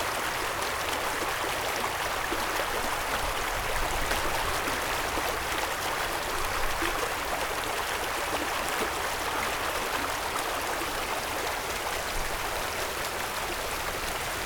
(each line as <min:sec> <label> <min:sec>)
0:00.0 water 0:14.4